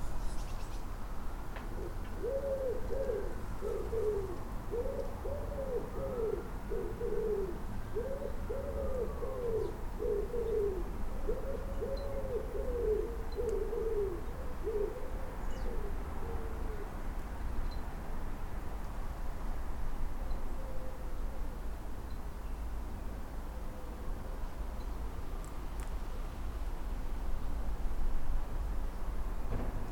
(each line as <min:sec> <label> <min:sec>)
0:00.0 Robins 0:01.0
0:01.6 Robins 0:18.0